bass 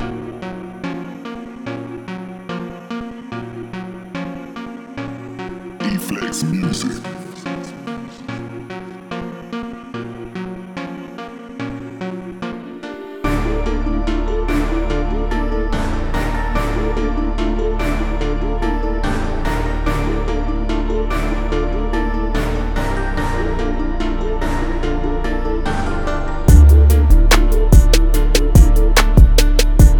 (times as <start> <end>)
13.2 29.9